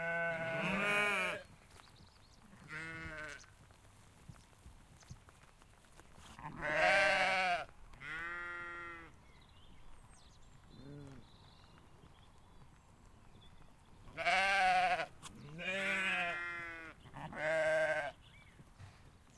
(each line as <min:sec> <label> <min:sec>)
0:00.0 sheep 0:09.2
0:00.0 wind 0:19.3
0:10.6 sheep 0:19.3